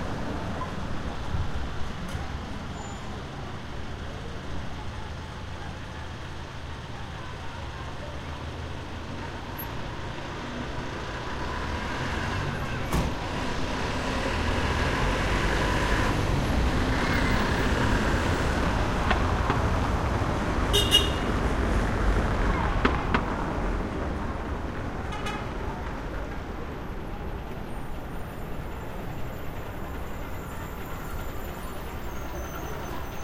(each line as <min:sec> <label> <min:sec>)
0:00.0 cars passing on cobblestone 0:33.2
0:00.1 people chatting as they pass 0:11.5
0:21.4 people chatting as they pass 0:33.2